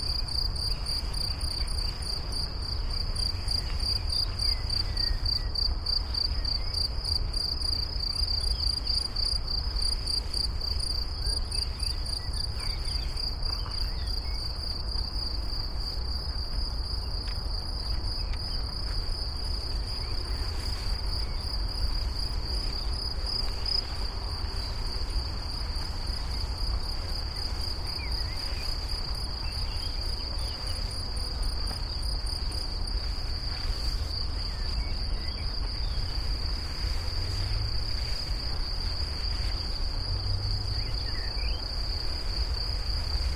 butterflies 0.0 - 43.3
crickets 0.0 - 43.3
wind 0.0 - 43.3
birds 11.0 - 14.7
distant traffic noise 15.2 - 43.3
birds 27.4 - 31.1

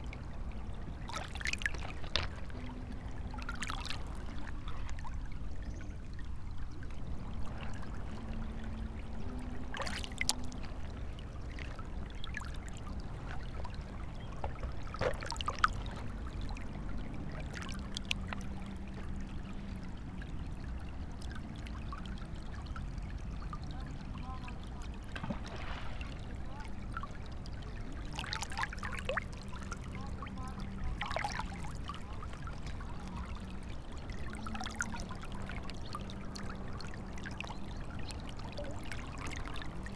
river 0.0 - 39.9

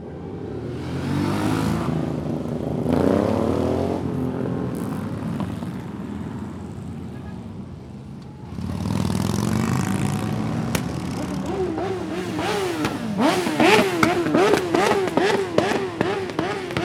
sputtering the exhaust pipes 9.9 - 16.8

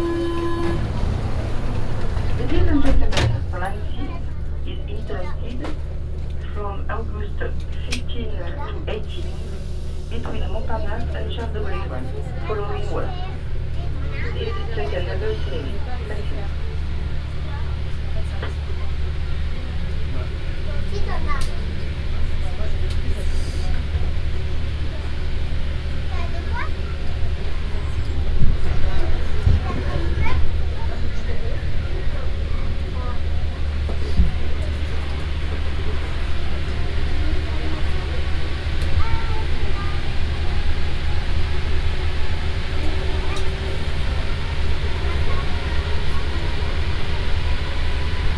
metro ride 0.0 - 48.3

